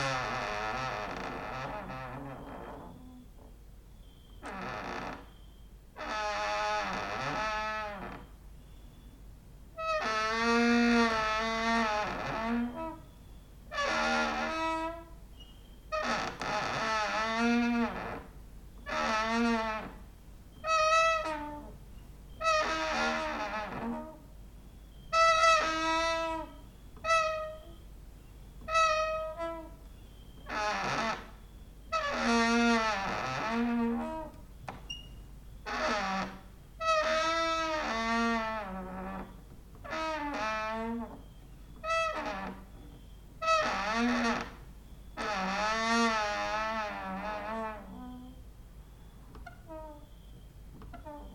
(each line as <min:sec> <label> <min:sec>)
0:00.0 creaking with wooden doors 0:27.9
0:01.6 cricket outside 0:09.2
0:28.5 creaking with wooden doors 0:51.3